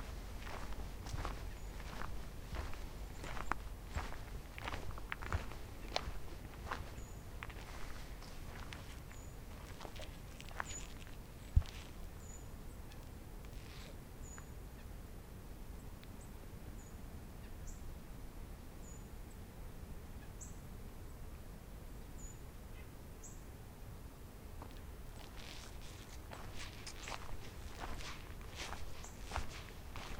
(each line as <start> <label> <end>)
0.0 steps 12.0
0.0 birds calls out 14.5
24.6 steps 30.1
24.6 birds calls out 30.1